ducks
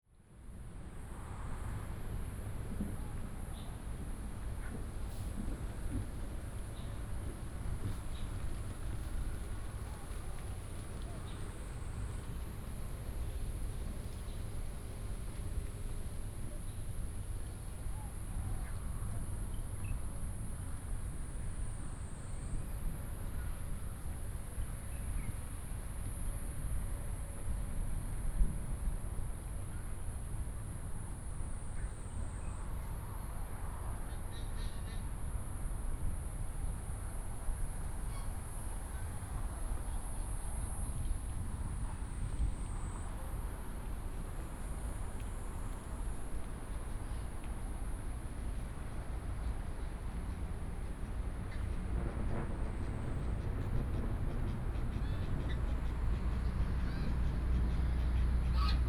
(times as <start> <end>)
50.2 58.8